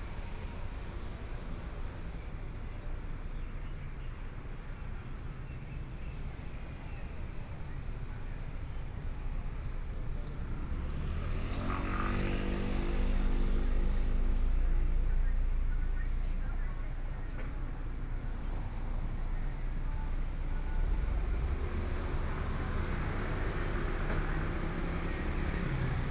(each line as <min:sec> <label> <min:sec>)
0:03.6 Various shops voices 0:26.1
0:06.2 Traffic Sound 0:26.1